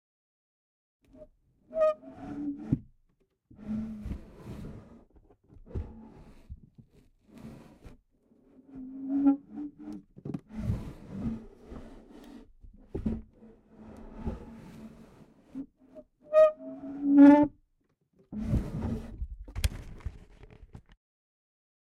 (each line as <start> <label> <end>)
18.4 Squeaky drawer 19.1